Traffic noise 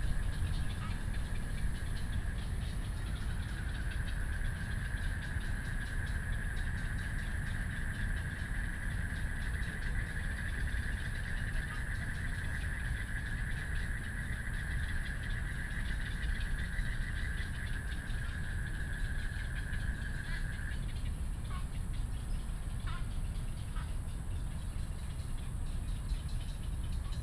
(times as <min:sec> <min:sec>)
0:00.0 0:06.8